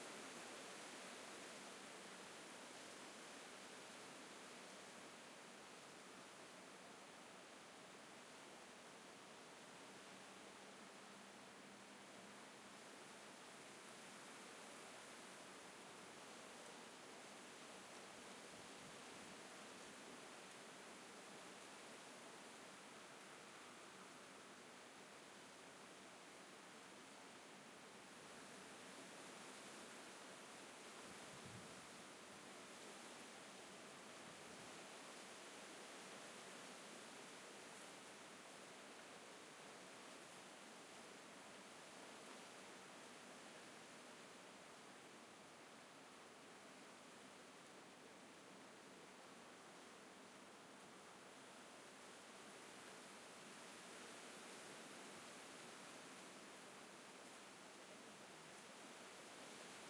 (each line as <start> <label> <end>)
0.0 Palm Trees in the Wind 59.8